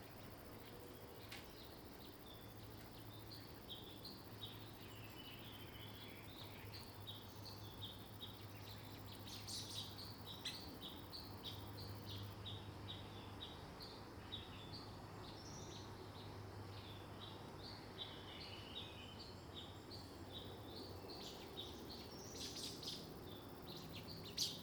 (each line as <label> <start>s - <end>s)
Bird sounds 0.0s - 24.6s